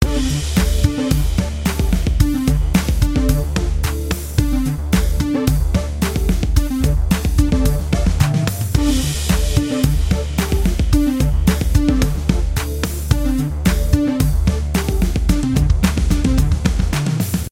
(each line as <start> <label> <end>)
0.0 groovy short song 17.5